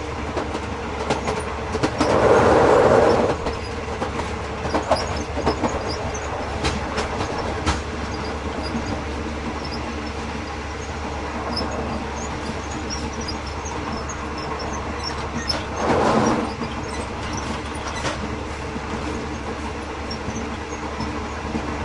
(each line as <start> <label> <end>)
0.0 loud metal squeaking track movement 21.8
2.0 door slide open 3.4
15.5 door slide open 16.5